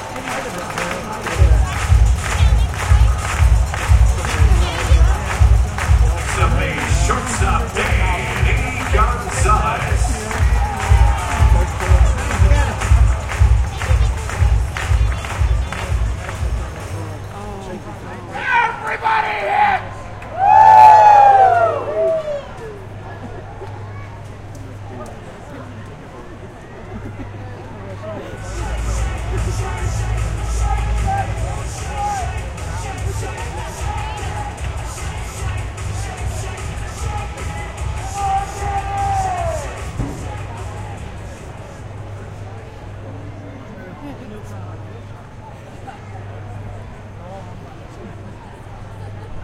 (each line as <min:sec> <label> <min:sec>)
0:00.0 low conversation among the crowd 0:49.4
0:01.2 batter is announced 0:17.0
0:06.3 fan leads his own promotion, shouting 0:12.7